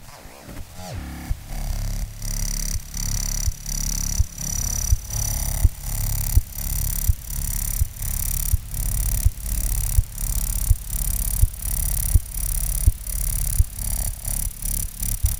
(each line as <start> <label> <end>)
0.0 Rhythmical interference generated from a No-Input Mixer 15.3